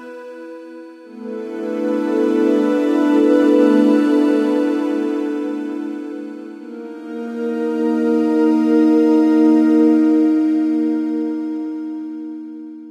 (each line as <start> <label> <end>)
0.0 choirs 12.9